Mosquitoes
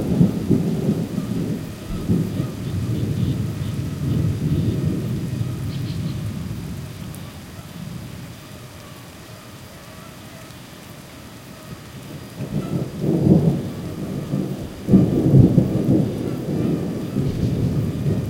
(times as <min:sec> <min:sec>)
0:00.1 0:06.2